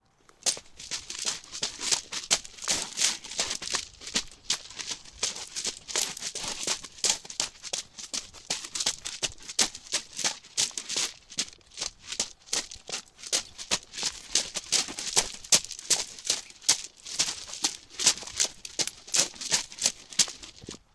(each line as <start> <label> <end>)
0.3 footsteps on a stony gravel surface 20.9